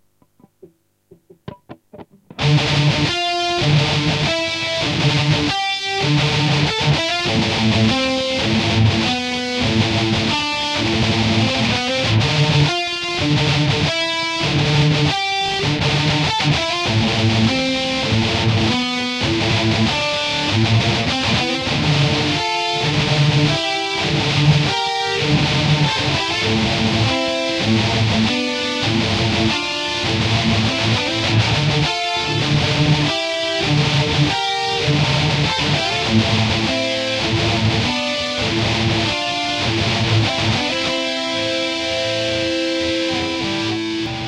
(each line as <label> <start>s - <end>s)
electric guitar 0.0s - 44.2s